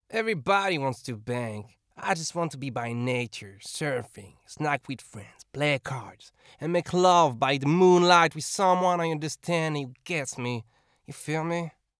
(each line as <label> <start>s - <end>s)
Surfer like voice pack 0.1s - 11.8s